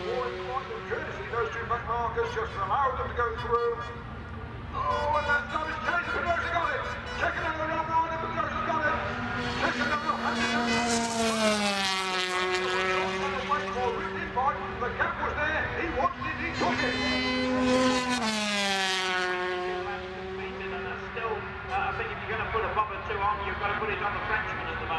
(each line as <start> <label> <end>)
0.0 125cc motorcycle race 24.9